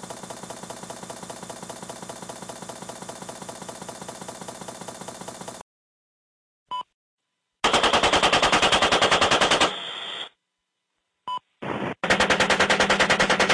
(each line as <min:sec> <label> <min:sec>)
0:00.0 helicopter 0:05.6
0:11.6 shots 0:13.5
0:12.0 helicopter 0:13.5